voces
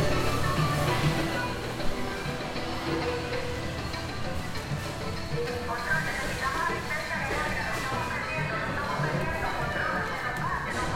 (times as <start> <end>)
0.0 1.7, 5.5 10.9